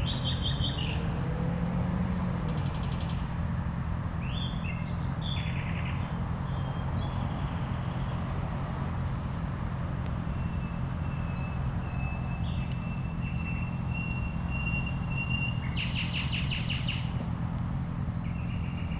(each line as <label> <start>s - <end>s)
3 nightingales 10.4s - 17.2s